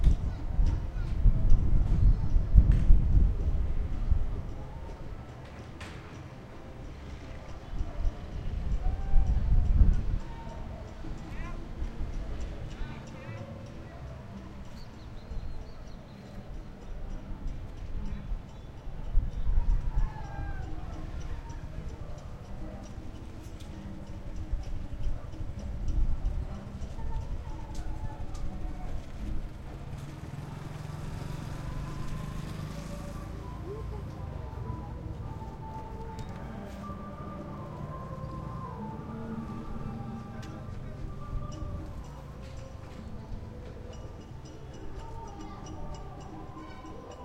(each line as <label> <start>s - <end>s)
high flow of people 0.0s - 47.2s
moto 28.9s - 35.2s
children playing 41.8s - 47.2s